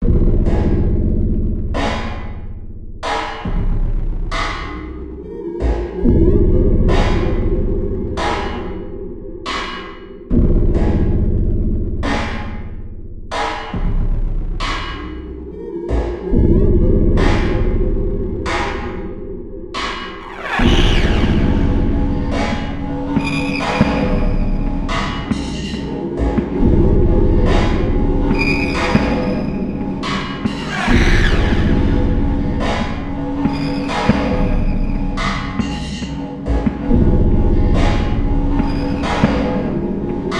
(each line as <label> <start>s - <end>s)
beat 19.8s - 40.3s